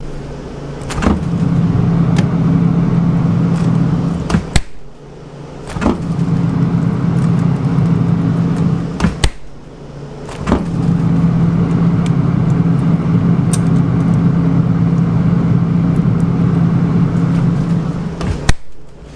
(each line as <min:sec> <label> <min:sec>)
0:00.8 opening and closing a freezer door 0:04.9
0:05.6 opening and closing a freezer door 0:06.4
0:08.6 opening and closing a freezer door 0:09.5
0:10.2 opening and closing a freezer door 0:11.1
0:17.3 opening and closing a freezer door 0:18.9